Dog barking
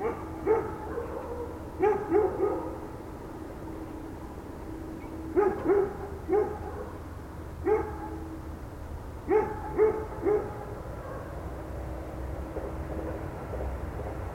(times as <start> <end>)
0.0 2.9, 5.3 8.3, 9.3 11.5